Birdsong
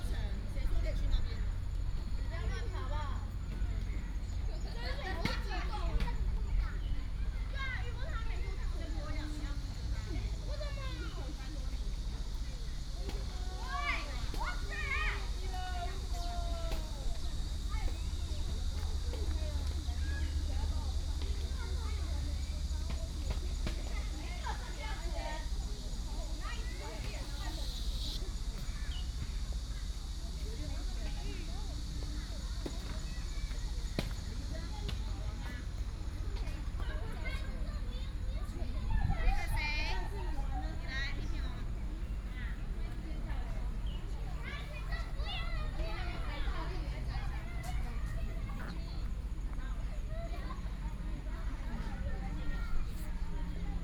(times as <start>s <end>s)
26.5s 29.8s